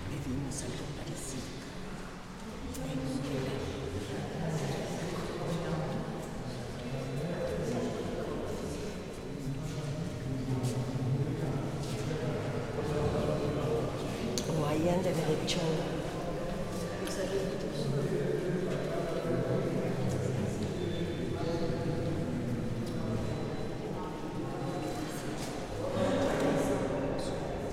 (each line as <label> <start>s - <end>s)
people talking, ressonating in the space 0.0s - 27.7s